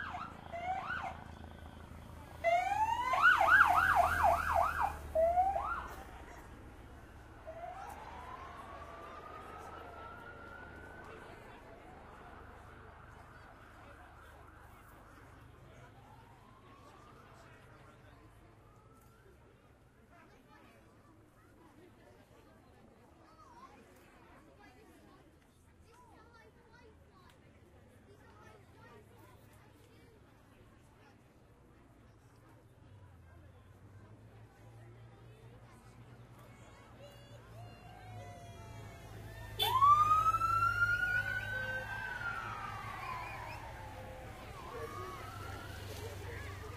0.0s Womens Cyclists pass 18.7s
0.0s Police motorcyclists getting the crowd going 20.5s
0.0s Crowd 46.7s
0.0s Olympics vehicles 46.7s
28.0s Police motorcyclists getting the crowd going 46.7s
32.7s Womens Cyclists pass 46.7s

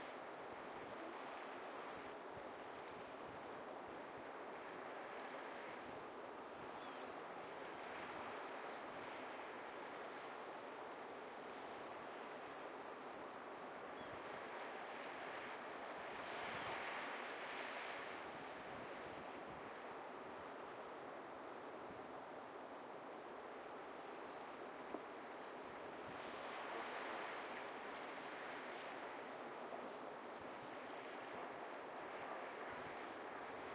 0.0s waves 33.7s

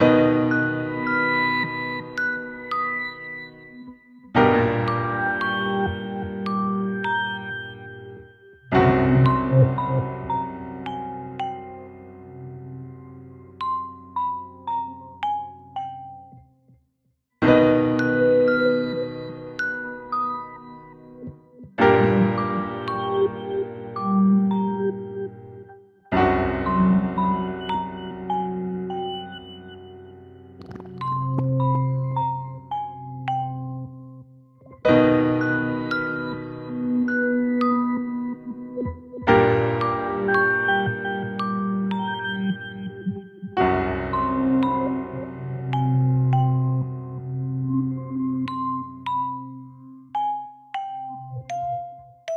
0.0s melody in the background 16.4s

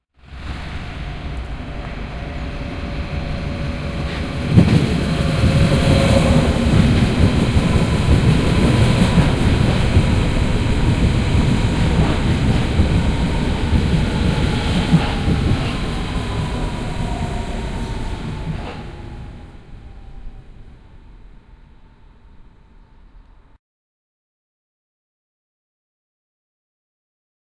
0.2s Train sound 23.6s

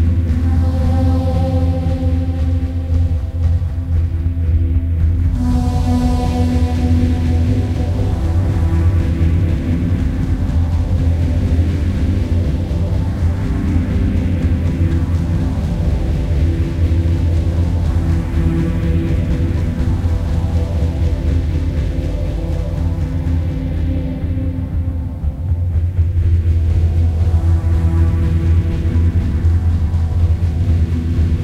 0.0s Percussion 31.4s

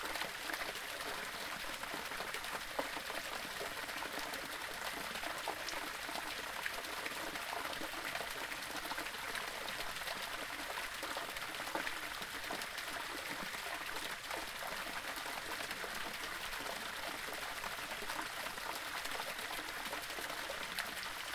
0.0s Little waterfall 21.3s

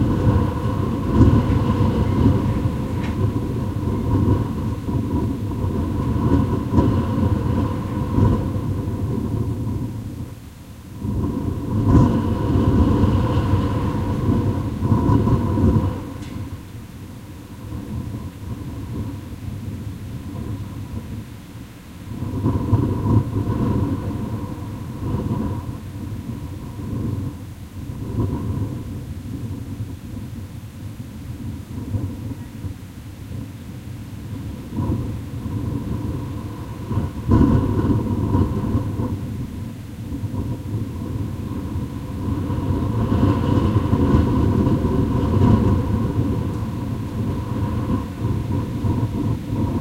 0.0s strong wind blowing on a closed kitchen extractor fan vent 49.8s

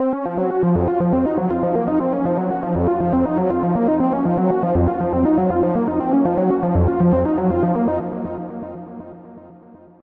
0.0s bass 8.8s

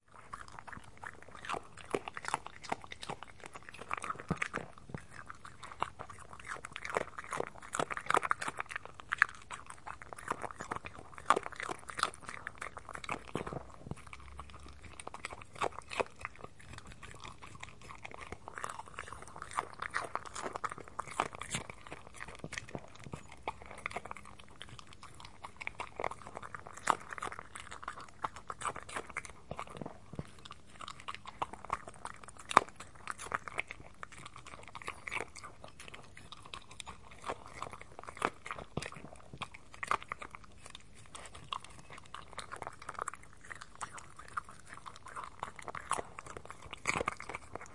0.0s small dog eats pieces of cucumber and carrot 47.7s

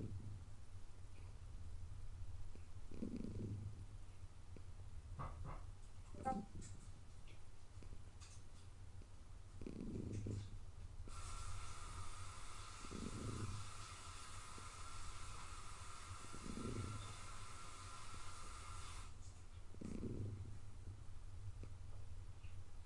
0.0s purring 0.4s
2.5s purring 3.9s
9.6s purring 10.5s
11.1s purring 19.0s
19.7s purring 20.6s

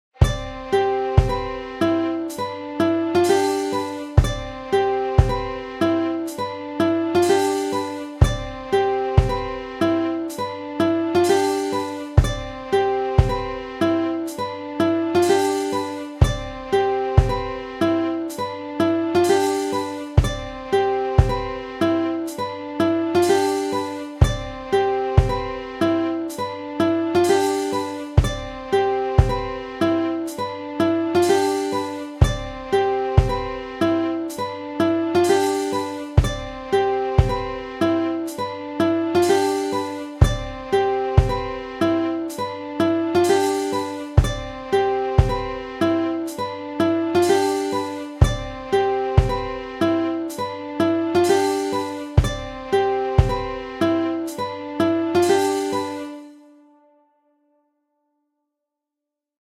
0.1s Smart Strings 56.4s
0.2s Classical Acousitic Guitar 57.0s

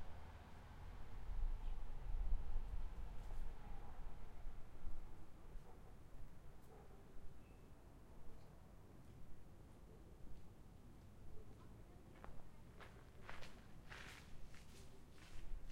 0.0s passing cars 5.2s

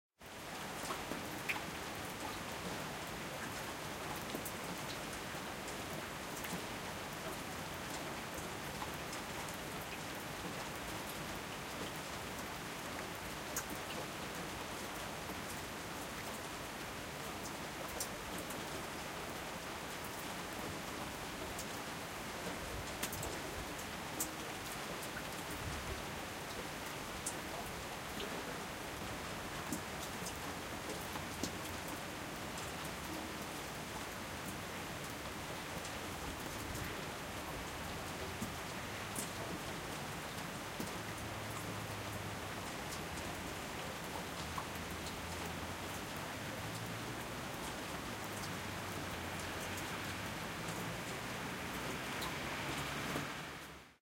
0.2s rain 54.0s

